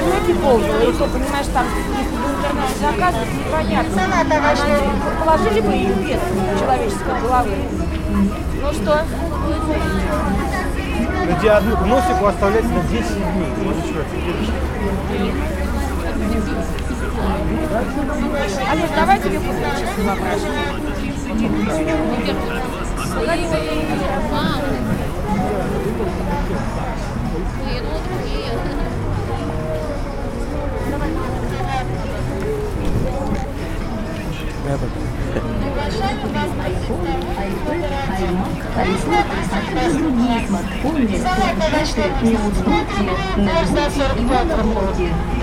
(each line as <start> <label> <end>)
0.0 conversations 45.4
0.0 music coming from speakers mounted outside stores 45.4
0.0 traffic noise 45.4